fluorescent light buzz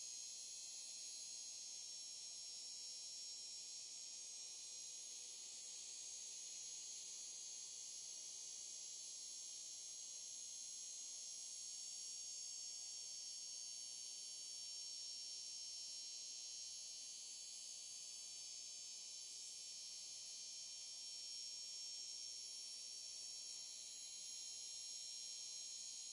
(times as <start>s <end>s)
14.7s 26.1s